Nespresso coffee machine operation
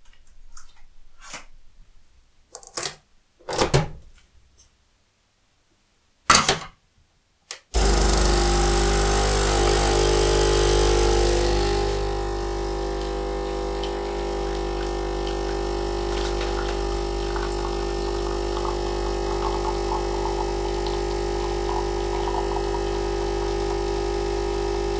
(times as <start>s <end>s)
7.8s 24.9s